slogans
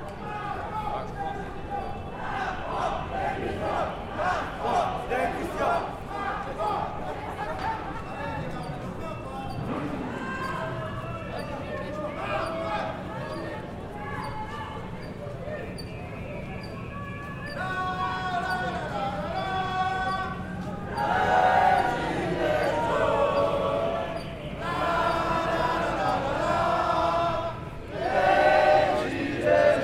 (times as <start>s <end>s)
17.5s 29.8s